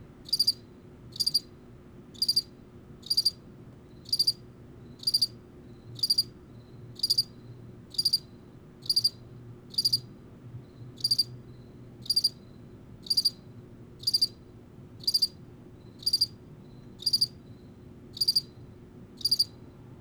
Cricket 0:00.2 - 0:20.0

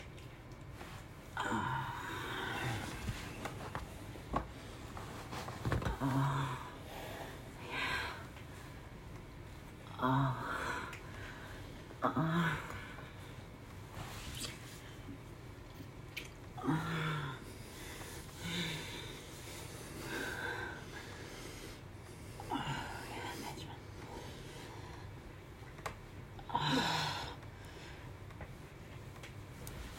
gentle rustle of sheets 0:00.2 - 0:01.4
gentle rustle of sheets 0:02.1 - 0:06.4
gentle rustle of sheets 0:13.1 - 0:16.5
gentle rustle of sheets 0:28.1 - 0:29.9

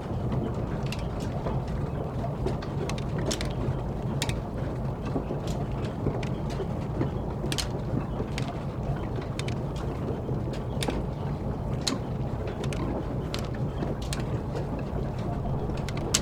MILL's mechanism 0:15.2 - 0:16.2

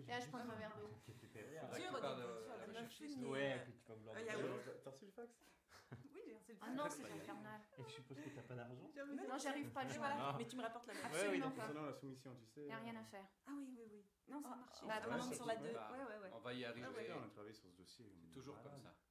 walla 0:13.5 - 0:16.1

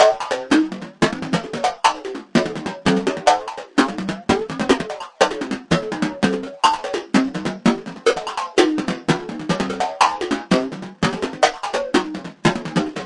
synth percussion 0:00.0 - 0:13.0

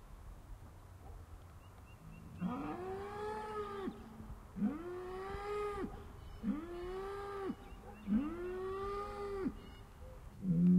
Birds 0:01.0 - 0:10.7
Mooing Cows 0:02.4 - 0:04.0
Mooing Cows 0:04.6 - 0:09.6

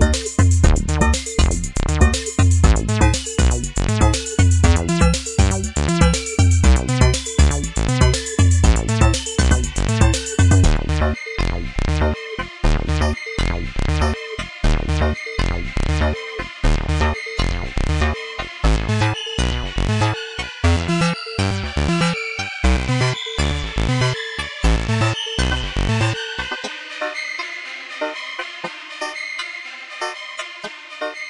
drum 0:00.0 - 0:10.8
synthesizer 0:00.0 - 0:31.2

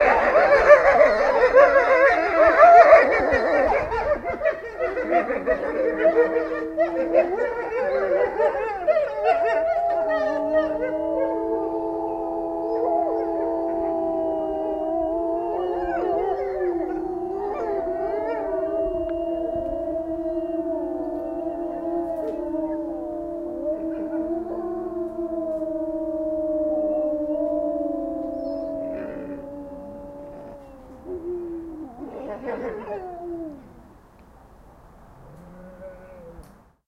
wolfs howl 0:00.0 - 0:33.9

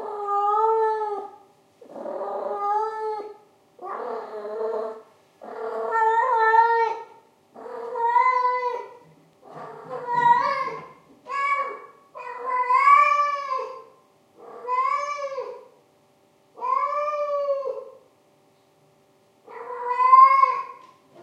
cat in heat 0:00.0 - 0:15.8
cat in heat 0:16.6 - 0:18.1
cat in heat 0:19.4 - 0:21.2

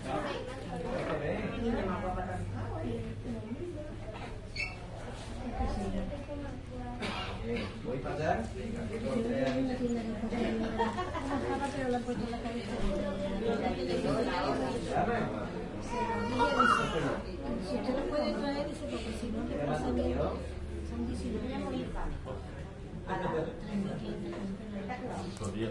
voices of adults and children 0:00.0 - 0:25.7

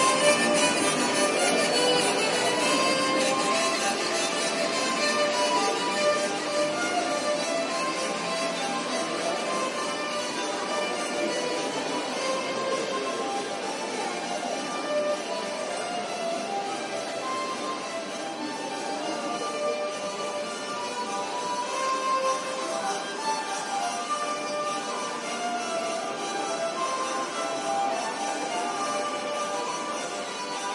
hurdy gurdy 0:00.0 - 0:30.7

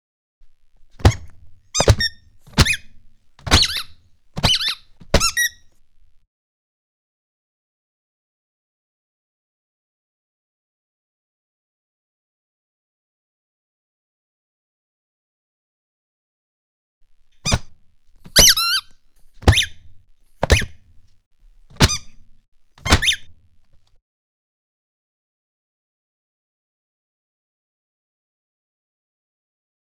Footsteps Giant Clown 0:01.0 - 0:05.5

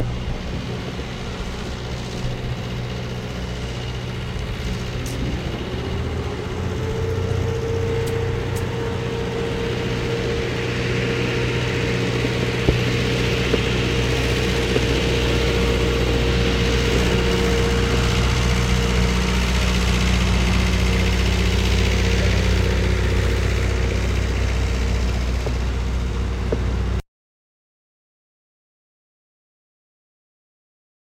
construction site machines 0:00.0 - 0:27.0
trucks 0:00.0 - 0:27.0

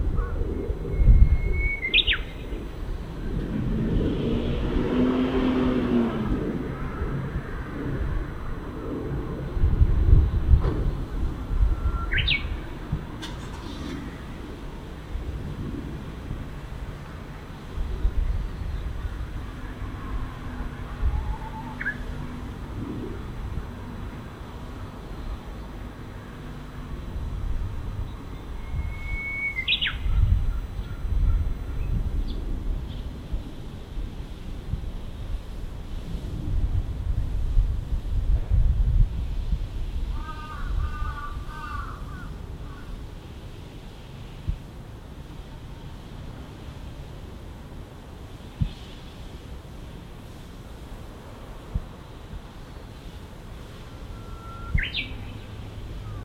other city sounds 0:00.0 - 0:56.2
wind 0:00.0 - 0:56.2
Japanese bush warbler (uguisu) 0:00.1 - 0:02.6
cars 0:01.9 - 0:28.7
Japanese bush warbler (uguisu) 0:11.6 - 0:12.8
Japanese bush warbler (uguisu) 0:21.0 - 0:22.3
Japanese bush warbler (uguisu) 0:28.0 - 0:33.2
Japanese bush warbler (uguisu) 0:53.9 - 0:56.2

